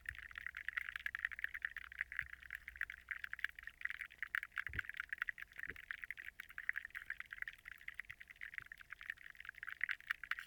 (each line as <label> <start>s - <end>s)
school of minnows surrounding the hydrophone 0.0s - 10.4s